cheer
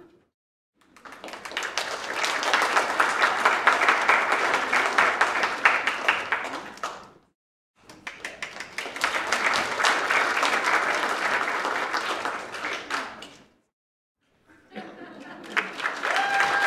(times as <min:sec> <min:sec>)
0:15.6 0:16.6